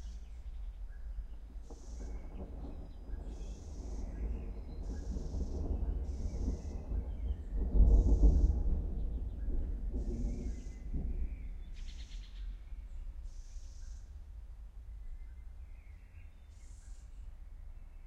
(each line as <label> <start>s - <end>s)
single thunderclap 1.6s - 12.1s